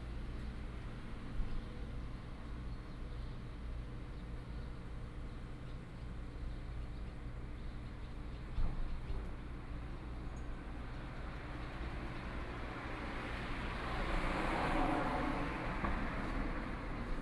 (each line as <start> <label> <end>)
11.2 Traffic Sound 17.2